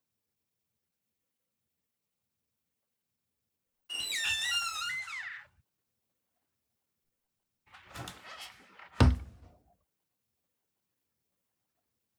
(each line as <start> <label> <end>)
7.9 Old wooden door open and close 9.4